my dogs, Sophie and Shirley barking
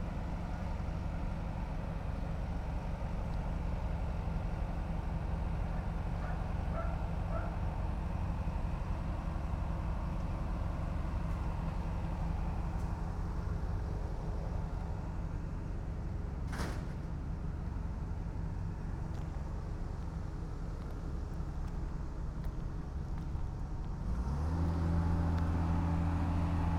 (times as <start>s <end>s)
6.2s 7.6s